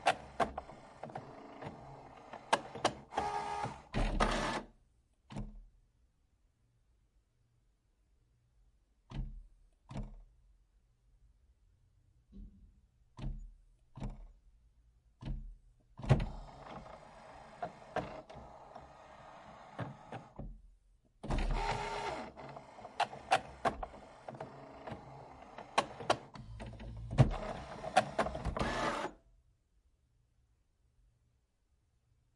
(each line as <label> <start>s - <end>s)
printer inkjet calibrating 0.0s - 4.7s
printer inkjet calibrating 16.2s - 20.4s
printer inkjet calibrating 21.3s - 29.2s